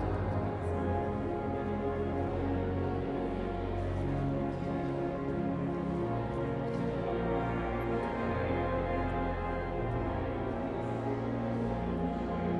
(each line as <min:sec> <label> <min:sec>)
0:00.0 Visitors walking and talking 0:12.5